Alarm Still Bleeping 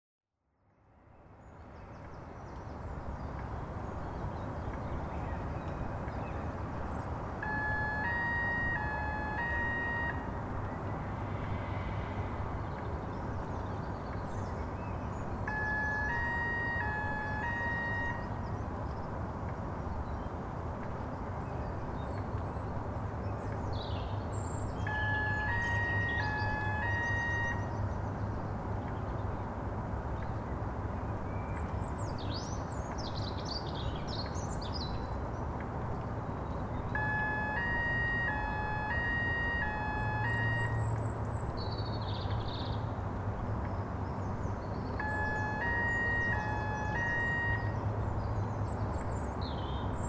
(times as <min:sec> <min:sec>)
0:07.4 0:10.4, 0:15.5 0:18.4, 0:24.9 0:27.8, 0:37.0 0:41.0, 0:45.0 0:47.8